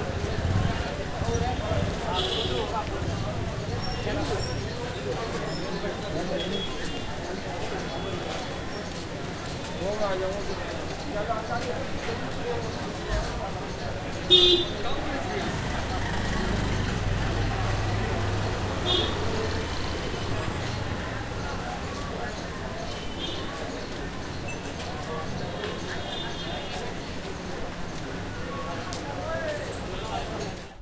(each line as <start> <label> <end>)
0.0 bikes 30.8
0.0 cars 30.8
0.0 salesmen are trying to sell their commodities 30.8
0.0 tuktuks passing by 30.8
15.3 moped 21.7